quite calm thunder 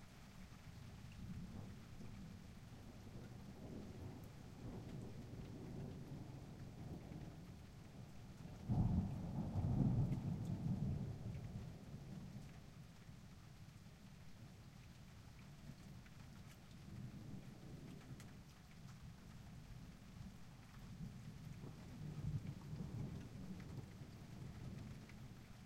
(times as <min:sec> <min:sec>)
0:01.2 0:12.8, 0:21.0 0:25.5